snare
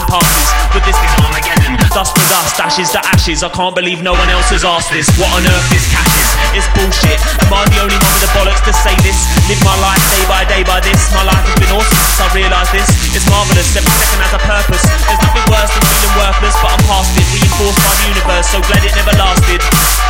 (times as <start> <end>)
19.7 20.0